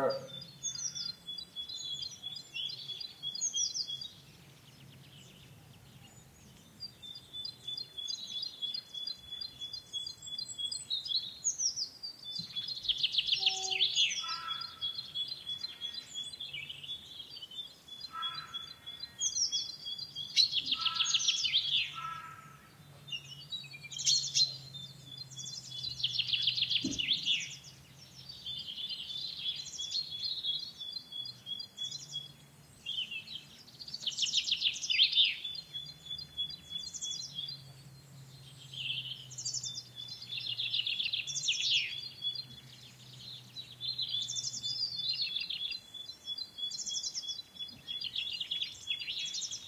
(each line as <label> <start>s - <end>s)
calf 0.0s - 0.4s
voices 0.0s - 0.4s
sheepdog 0.0s - 0.5s
birds 0.0s - 49.6s